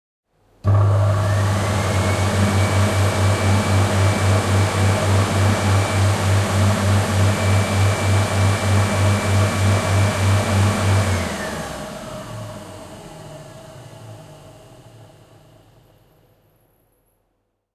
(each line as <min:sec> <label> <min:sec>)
0:00.6 hand dryer 0:15.3